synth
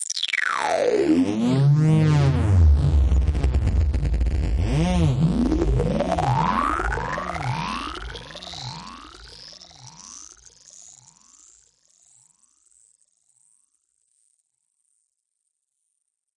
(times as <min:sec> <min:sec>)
0:00.1 0:10.5